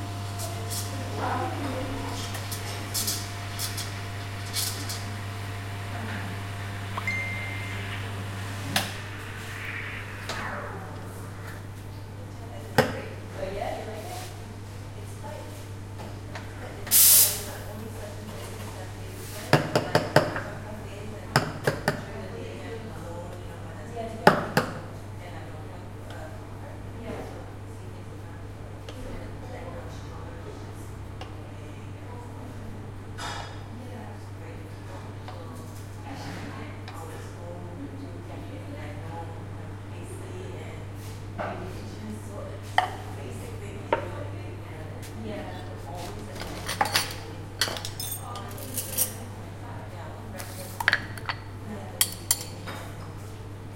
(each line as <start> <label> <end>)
0.0 Making Coffee 10.5
16.9 steaming 17.5